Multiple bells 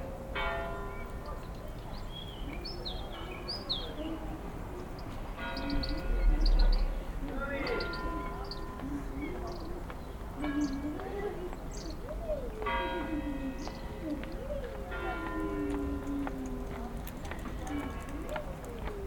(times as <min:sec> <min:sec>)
0:00.0 0:01.3, 0:05.4 0:11.6, 0:12.6 0:19.0